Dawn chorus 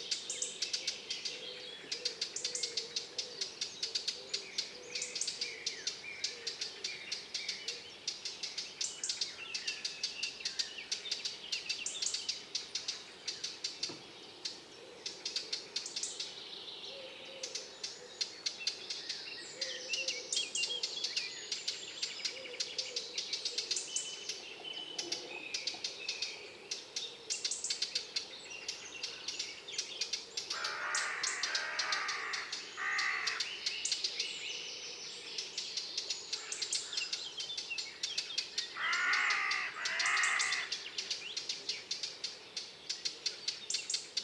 30.5 33.5, 38.7 40.8

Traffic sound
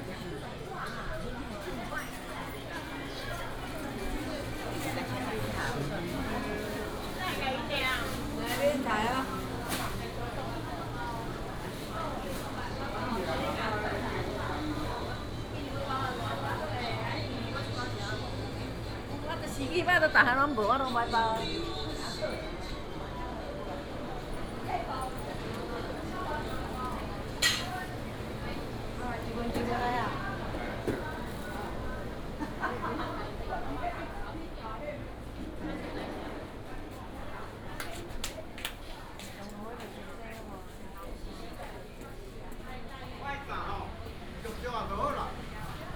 42.9 45.9

